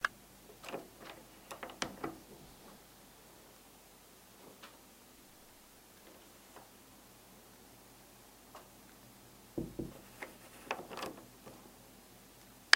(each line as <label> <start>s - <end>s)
opening and closing a door quietly 0.0s - 3.6s
opening and closing a door quietly 4.3s - 7.2s
opening and closing a door quietly 9.5s - 12.2s